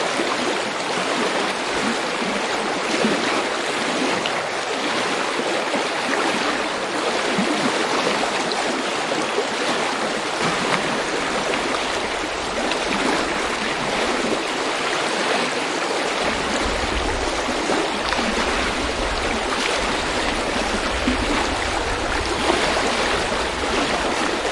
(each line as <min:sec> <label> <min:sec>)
0:00.0 stream floating, gurgle an babble 0:24.5